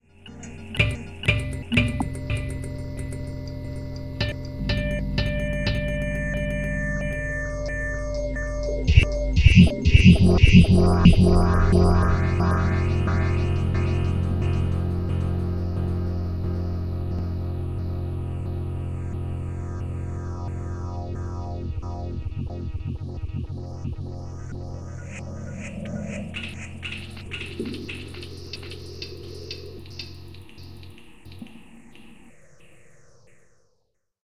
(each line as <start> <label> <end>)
0.3 Tuning a Roland Oetter acoustic guitar 24.6
0.3 glitch 33.4